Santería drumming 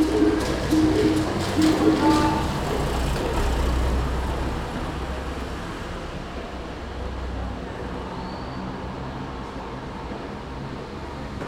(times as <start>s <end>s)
0.0s 3.4s